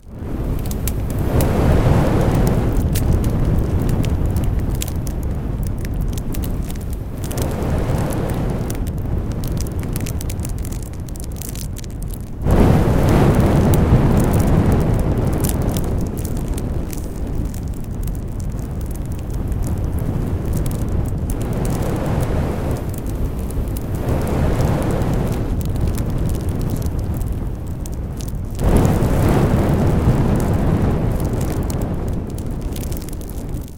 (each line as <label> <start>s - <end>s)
big fire1 0.0s - 33.7s